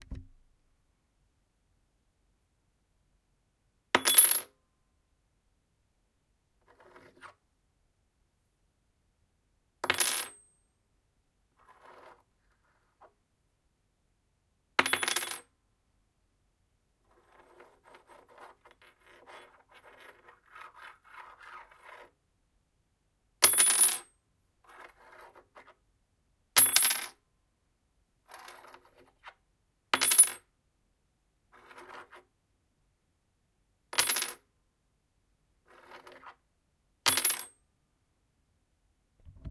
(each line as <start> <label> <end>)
0.0 Droping a key on a wooden floor 0.4